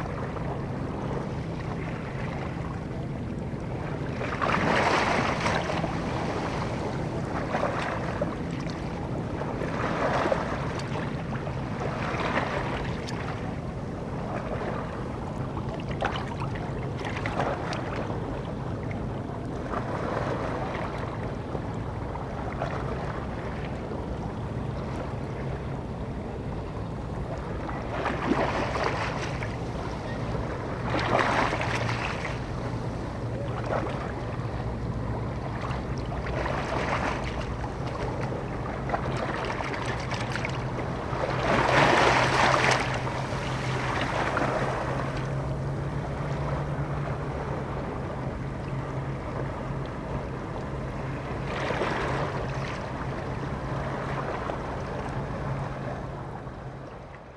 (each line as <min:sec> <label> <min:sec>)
0:00.0 medium waves 0:57.3